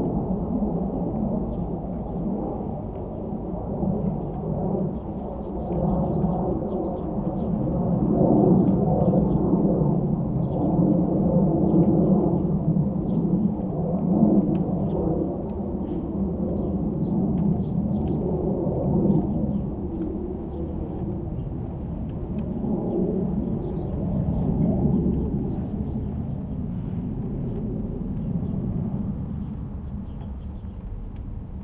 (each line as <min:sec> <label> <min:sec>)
0:00.0 noise of the plane 0:31.6
0:04.0 birds 0:07.8
0:14.8 birds 0:31.3